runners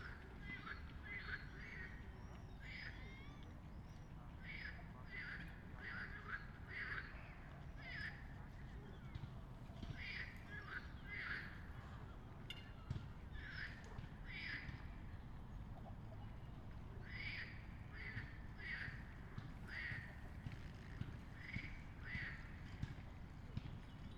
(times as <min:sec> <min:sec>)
0:18.1 0:24.1